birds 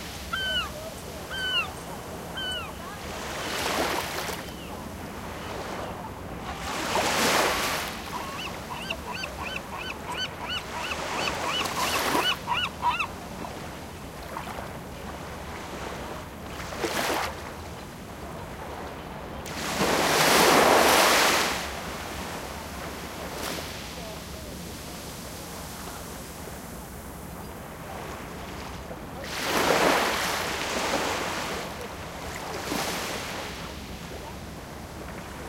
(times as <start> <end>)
0.2 2.8, 8.1 13.2